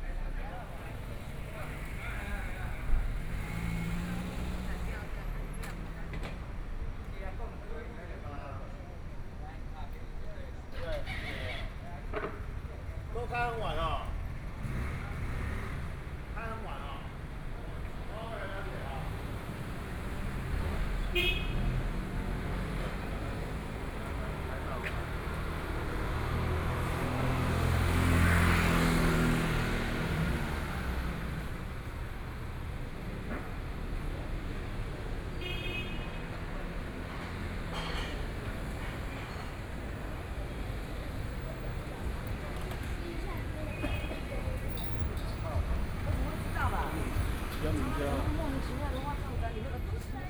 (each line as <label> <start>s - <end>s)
walking in the Street 0.0s - 50.2s